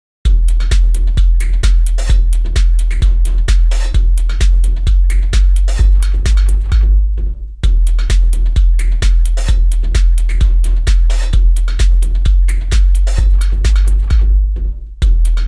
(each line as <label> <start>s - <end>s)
bass 0.2s - 15.4s